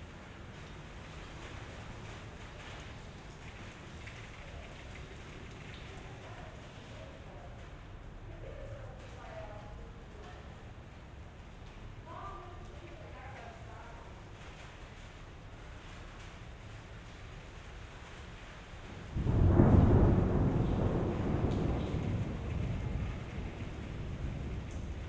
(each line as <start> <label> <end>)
0.0 light rain 25.0
18.9 thunder 25.0